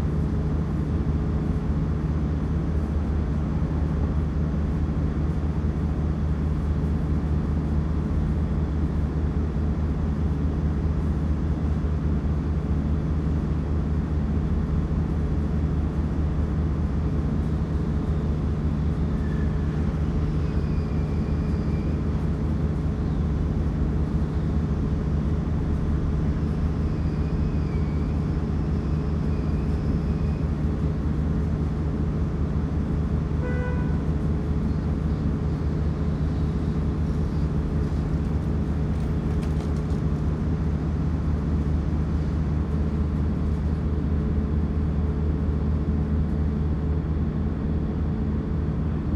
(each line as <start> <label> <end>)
0.0 generator of a mobile concrete plant 49.1